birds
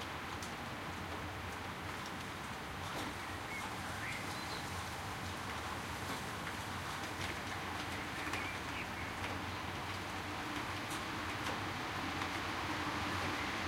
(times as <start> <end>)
7.8 9.7